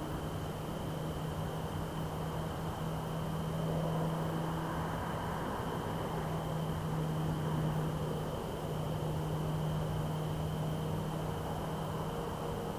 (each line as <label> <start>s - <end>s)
crickets 0.0s - 12.7s
nearby highway 2.0s - 12.7s